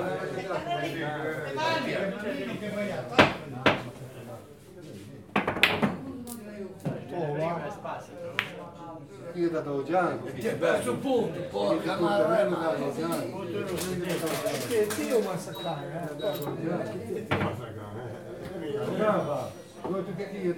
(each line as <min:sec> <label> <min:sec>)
0:05.3 men throw billiard balls on the billiard table 0:06.1